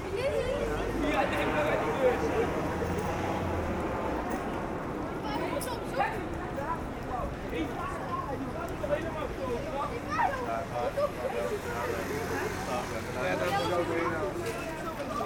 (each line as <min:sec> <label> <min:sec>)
0:00.0 Children talking loudly 0:15.2